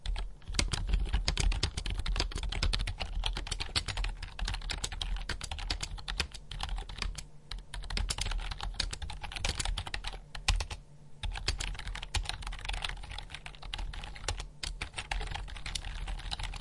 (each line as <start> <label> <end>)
0.0 Mechanical keyboard of computer 16.6